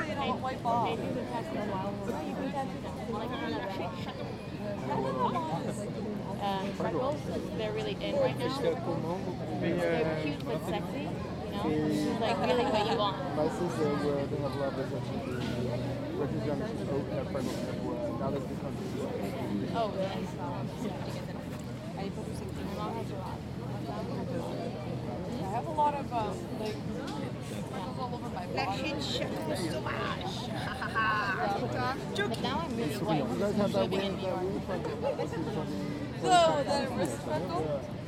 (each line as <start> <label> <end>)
0.0 Conversations in the park 38.0